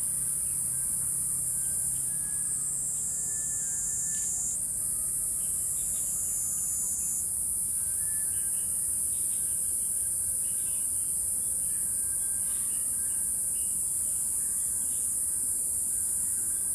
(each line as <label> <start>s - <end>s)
insects 0.0s - 16.7s